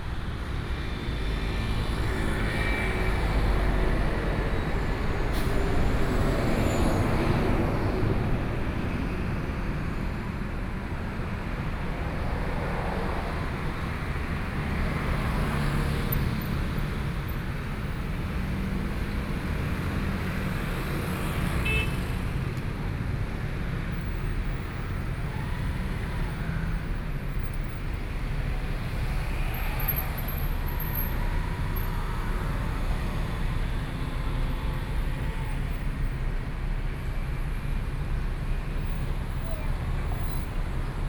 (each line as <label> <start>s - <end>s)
Traffic Sound 0.0s - 41.0s